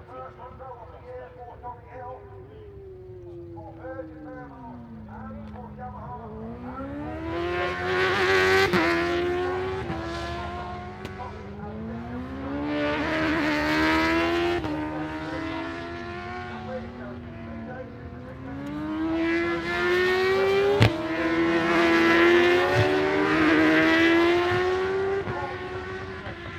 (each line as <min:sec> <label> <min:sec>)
0:00.0 superbikes qualifying 0:26.5